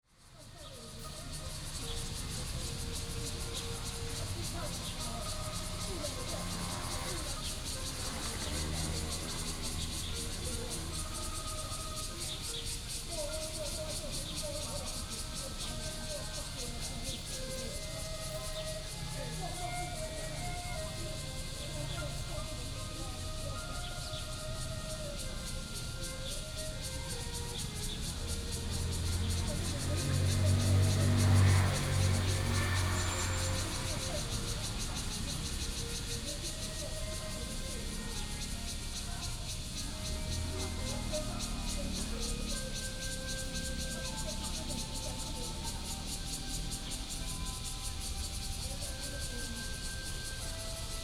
0.0s Bird calls 51.0s
0.0s Cicadas cry 51.0s

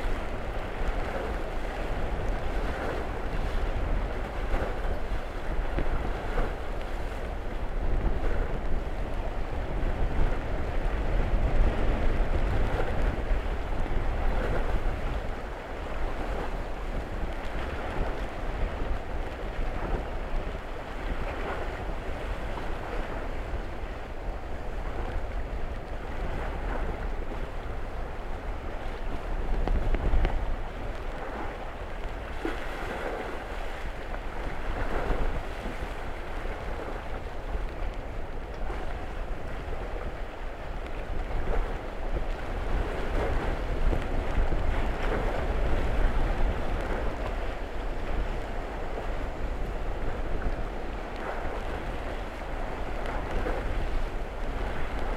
0.0s wind lashes the surface 55.1s

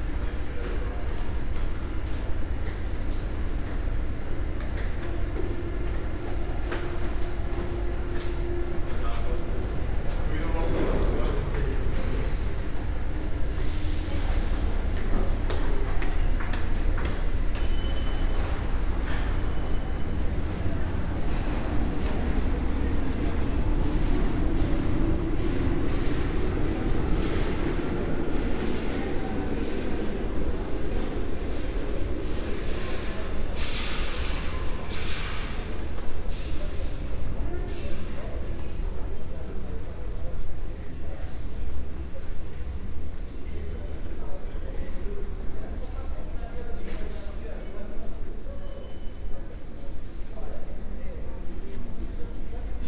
0.0s Metro ride 52.8s

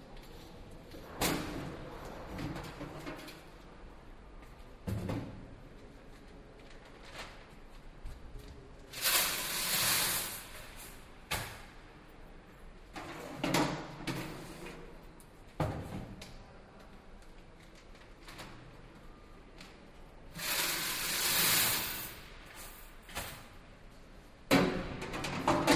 9.0s automatic counting machine for coins being emptied 10.4s
20.4s automatic counting machine for coins being emptied 22.2s

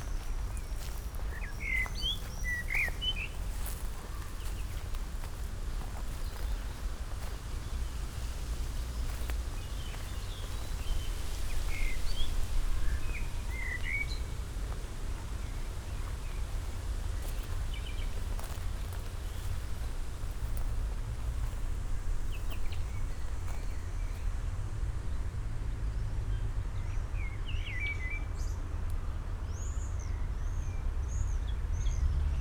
0.0s slow walk 24.5s

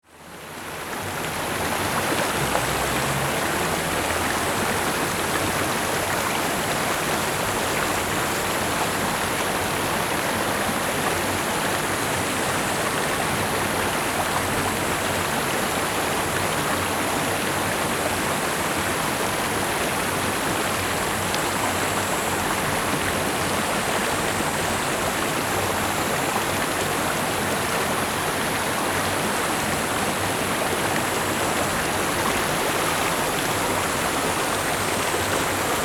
0.1s water streams 35.8s

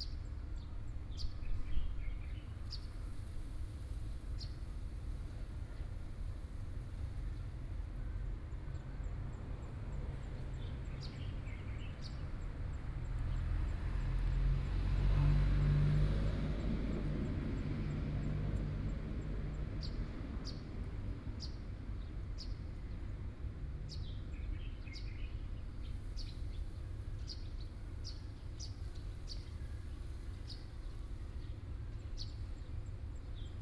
9.0s Traffic Sound 22.1s

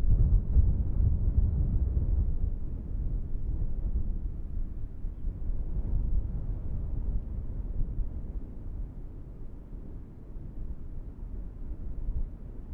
0.0s wind 12.7s

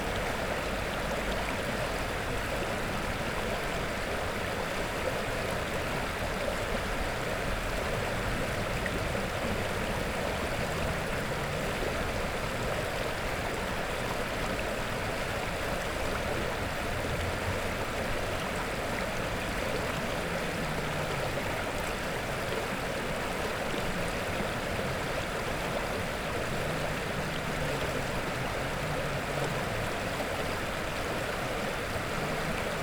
6.3s river Revúca 32.8s

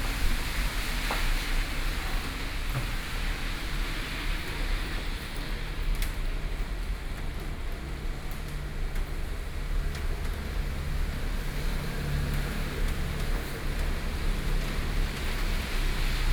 0.0s Rainy Day 16.3s

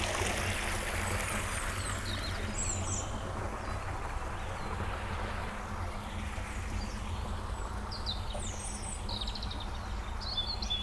0.0s water outflow 2.2s

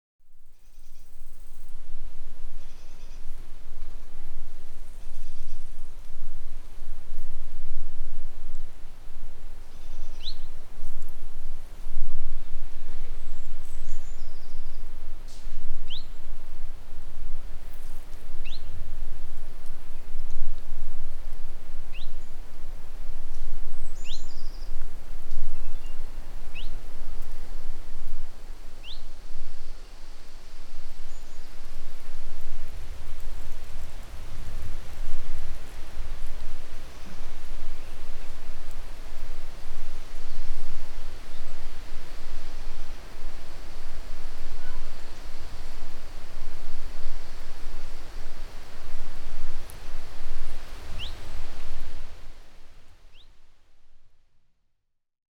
0.2s Wind in the trees 54.6s
9.7s occasional bird 10.5s
51.0s occasional bird 51.2s

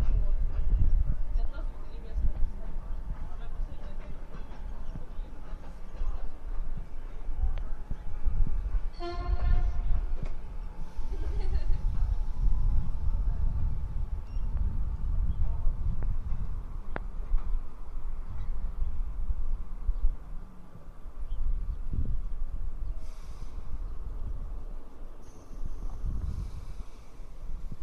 0.0s leaving of the train 27.8s

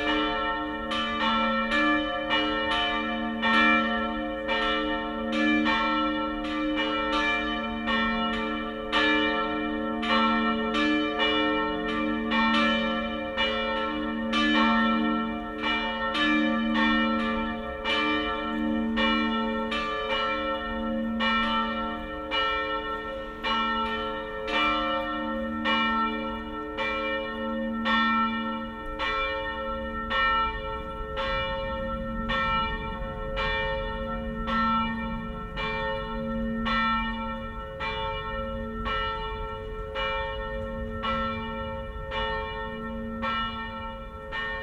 0.0s church bells 44.6s

